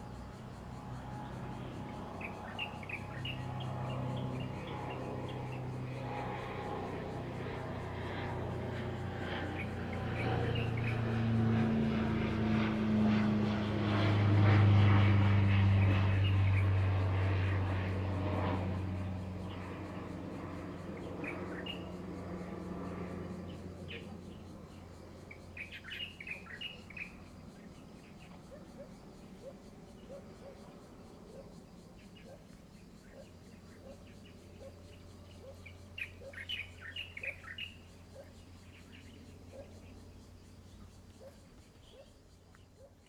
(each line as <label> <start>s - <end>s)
Birdsong 0.0s - 12.0s
Aircraft flying through 0.2s - 27.0s
Birdsong 19.2s - 42.9s